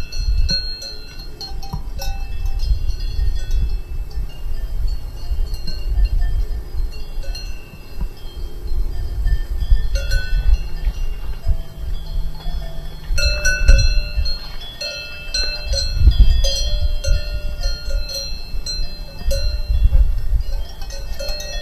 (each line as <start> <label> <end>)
0.0 Walking in the Mtn forest and fields 21.6
0.0 cow bells 21.6